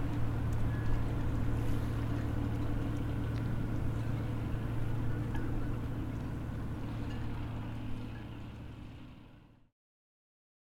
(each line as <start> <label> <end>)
0.0 Motors from the ferry 9.7
0.0 Motor of a boat 9.7
0.0 calm and quiet sea 9.7